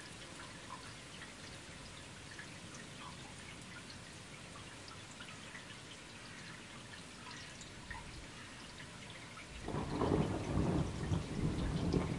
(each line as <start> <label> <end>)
0.0 Rain 12.1
9.6 Thunder 12.1